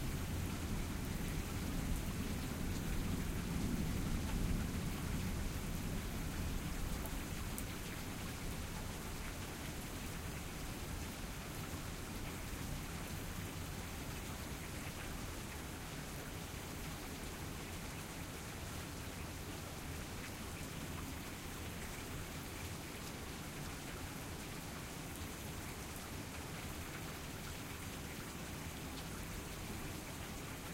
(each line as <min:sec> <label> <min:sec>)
0:00.0 rainstorm 0:30.7